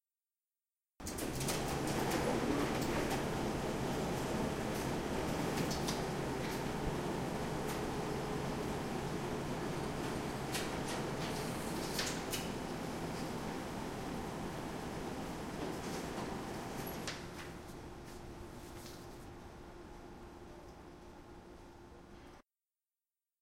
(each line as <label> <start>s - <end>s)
noise that a photocopier does when it is on 1.0s - 19.3s